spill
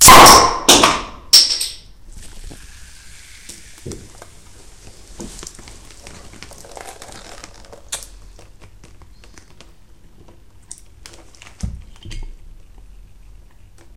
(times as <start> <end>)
2.1 8.2